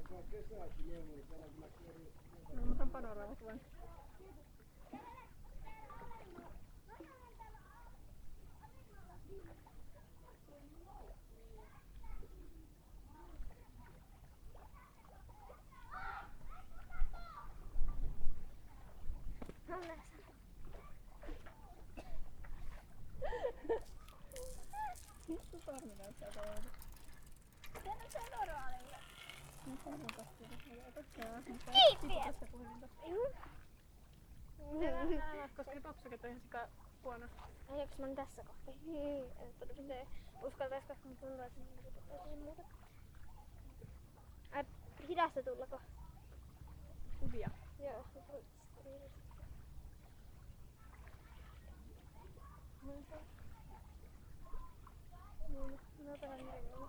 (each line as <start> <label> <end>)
0.0 People hanging around 56.8
23.3 cycling 32.8